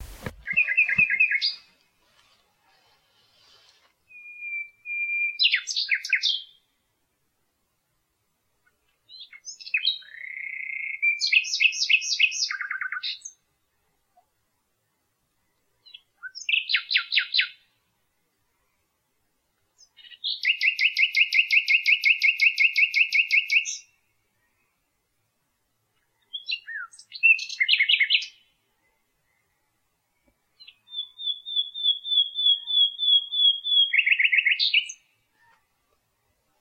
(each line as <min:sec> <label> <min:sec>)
0:00.0 nightingale 0:06.9
0:08.5 nightingale 0:36.6